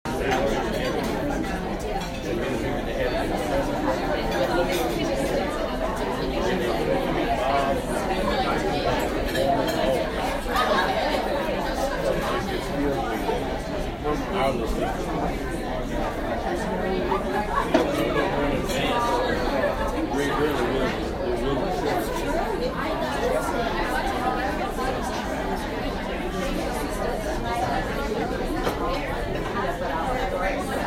0.1s clatter of plates and silverware 2.7s
3.3s clatter of plates and silverware 5.5s
8.5s clatter of plates and silverware 11.0s
17.4s clatter of plates and silverware 19.0s
28.3s clatter of plates and silverware 29.6s

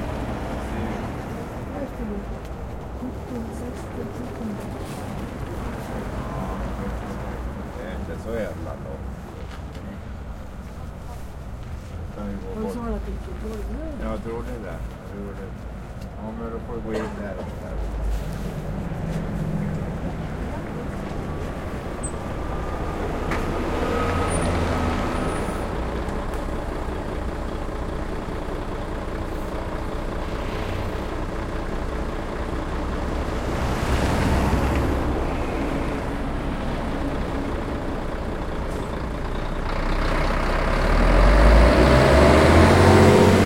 0.0s busses are coming and going 43.4s
0.0s cars 43.4s
0.6s people are talking 24.4s

